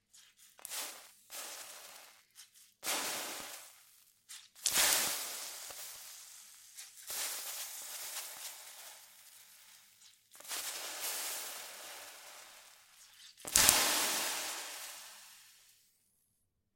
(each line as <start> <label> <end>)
10.0 Evaporating water 15.4